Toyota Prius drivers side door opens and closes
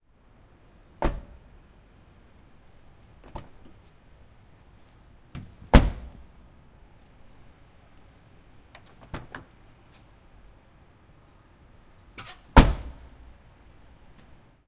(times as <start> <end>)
1.0 1.4, 5.4 6.2, 12.2 13.1